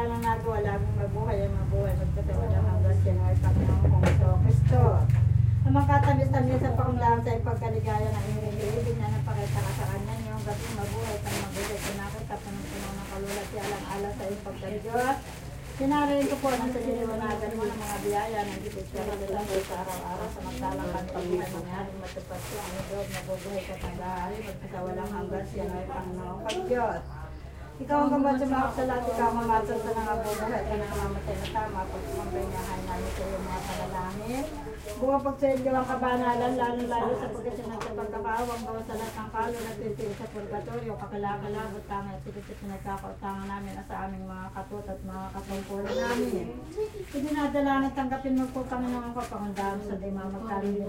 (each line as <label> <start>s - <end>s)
traffic from the small road 0.0s - 50.7s
ladies are praying and chanting 0.0s - 50.8s
men are cleaning the tomb 8.0s - 24.4s
men are cleaning the tomb 38.2s - 40.8s